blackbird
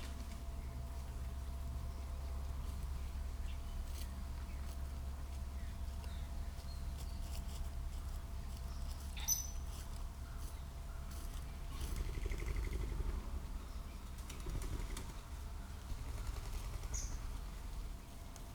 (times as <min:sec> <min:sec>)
0:08.7 0:12.9, 0:16.8 0:17.3